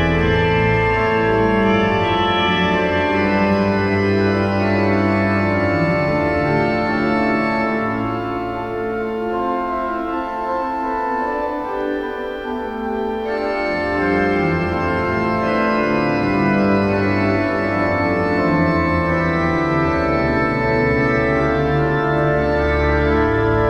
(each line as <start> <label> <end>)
0.0 Organ concert 23.6